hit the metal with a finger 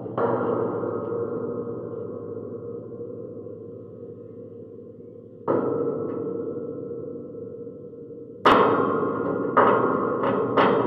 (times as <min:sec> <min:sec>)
0:08.5 0:10.8